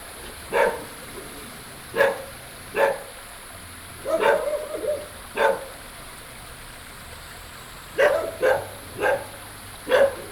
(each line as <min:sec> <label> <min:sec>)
0:00.0 Insects sounds 0:10.3
0:00.0 Walking along the stream 0:10.3
0:00.0 Dogs barking 0:03.3
0:03.9 Dogs barking 0:05.9
0:07.9 Dogs barking 0:10.3